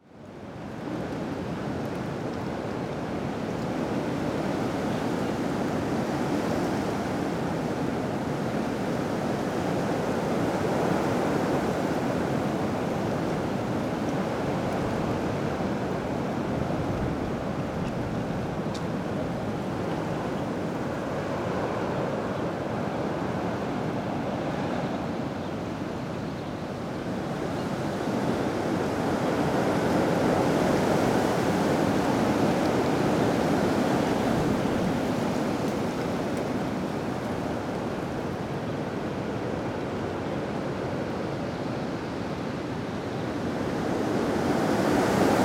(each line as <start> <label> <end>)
0.0 strong wind in trees 45.4